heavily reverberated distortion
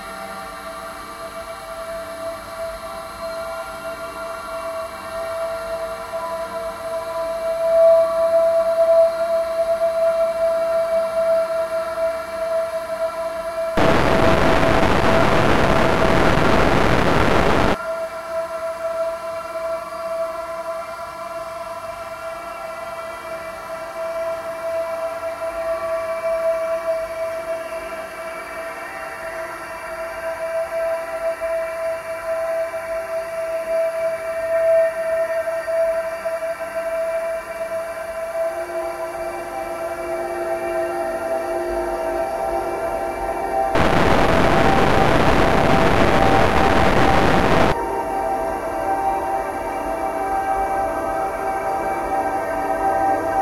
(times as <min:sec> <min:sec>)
0:13.8 0:17.8, 0:43.7 0:48.0